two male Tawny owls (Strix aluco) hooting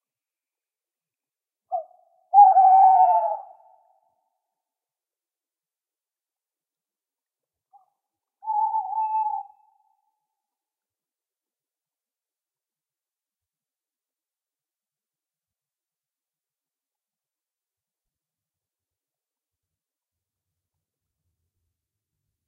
1.7 4.2, 7.7 10.0

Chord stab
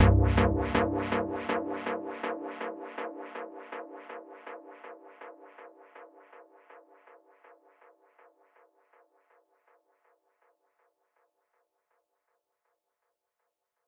0.0 2.1

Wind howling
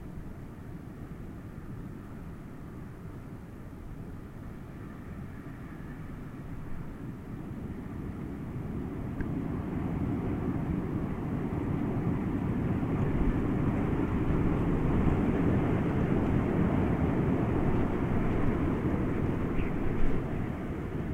4.6 21.1

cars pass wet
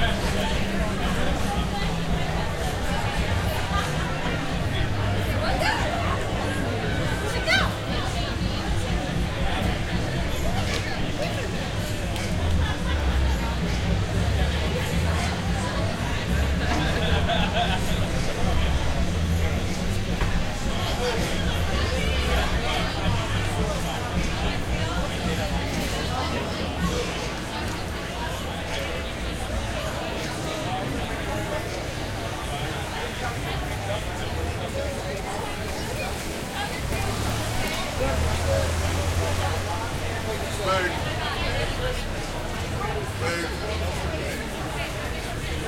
35.6 42.8

